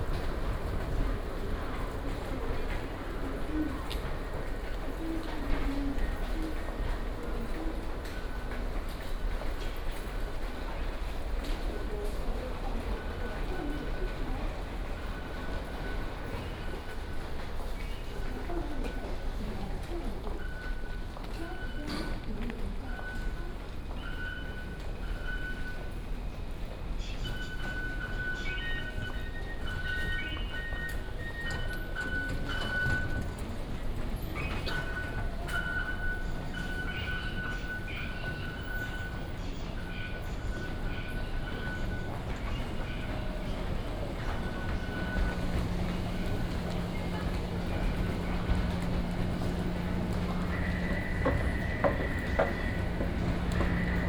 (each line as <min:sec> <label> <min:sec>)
0:42.1 walking 0:54.0